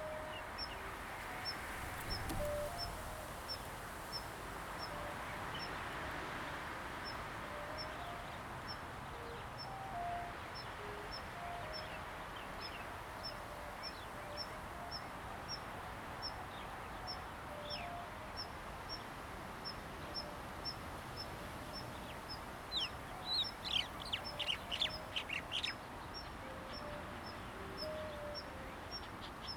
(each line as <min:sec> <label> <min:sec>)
0:00.0 Wind 0:29.5
0:21.7 Birds singing 0:29.5